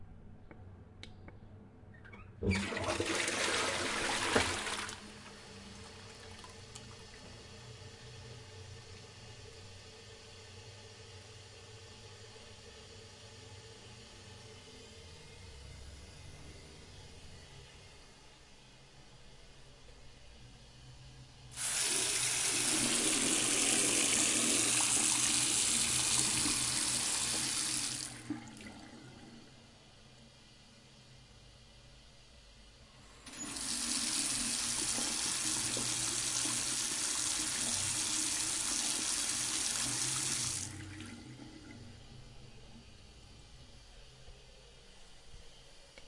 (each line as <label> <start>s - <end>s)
Tolet Flushing 2.4s - 7.7s
sink water 2.4s - 7.7s
sink water 21.6s - 29.4s
Tolet Flushing 21.6s - 29.6s
Tolet Flushing 33.2s - 42.1s
sink water 33.3s - 42.0s